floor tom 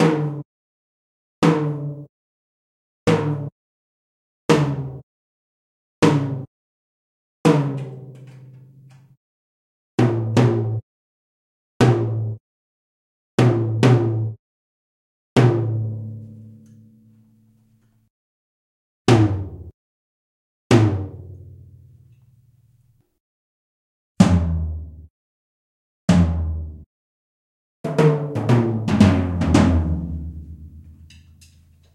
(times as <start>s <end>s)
19.1s 19.8s, 24.2s 25.0s, 26.1s 26.9s, 27.9s 31.3s